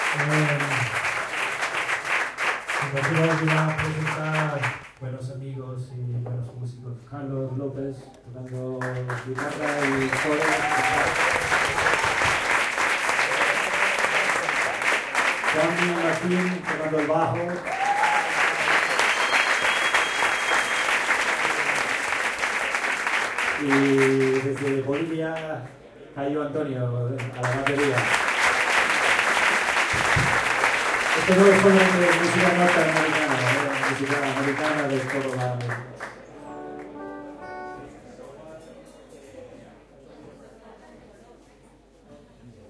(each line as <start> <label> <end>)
0.0 introduces the musicians of his group 1.0
0.0 Applause 5.0
2.7 introduces the musicians of his group 12.0
8.5 Applause 25.5
27.2 Applause 36.9
31.0 introduces the musicians of his group 39.4